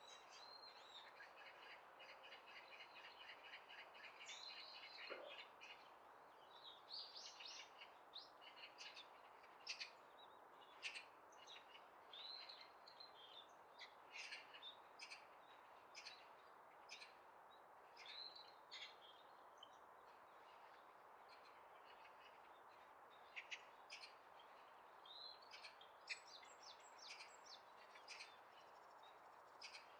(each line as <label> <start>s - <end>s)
birdsong 18.0s - 29.9s